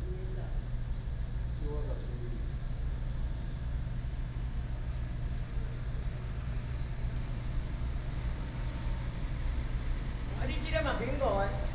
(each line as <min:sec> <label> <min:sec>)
0:00.0 Air conditioning sound 0:11.7